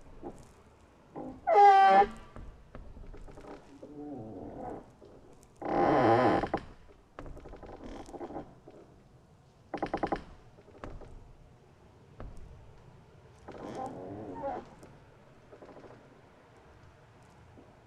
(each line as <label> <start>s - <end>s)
singing trees in oakwood 0.0s - 6.7s
singing trees in oakwood 11.6s - 17.8s